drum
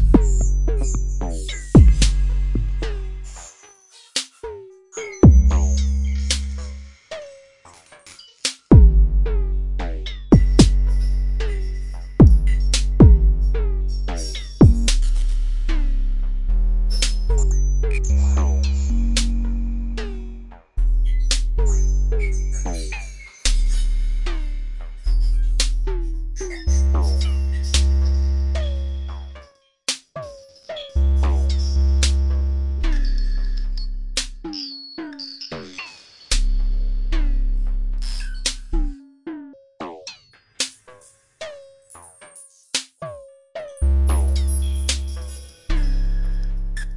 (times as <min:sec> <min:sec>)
0:00.0 0:03.0, 0:05.2 0:05.7, 0:08.7 0:09.2, 0:10.3 0:10.9, 0:12.2 0:13.5, 0:14.1 0:15.2